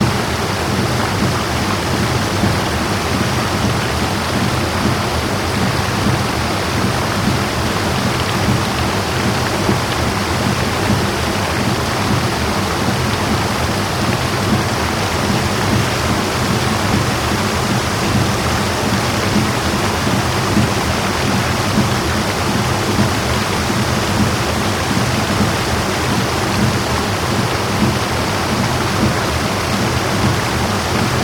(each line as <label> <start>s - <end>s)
waterfall 0.0s - 31.2s